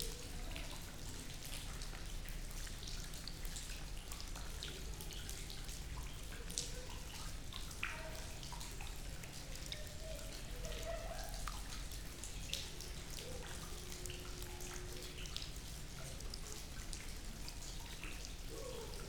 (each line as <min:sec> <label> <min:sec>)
0:00.0 mild rain 0:19.0
0:00.0 the leaking roof 0:19.0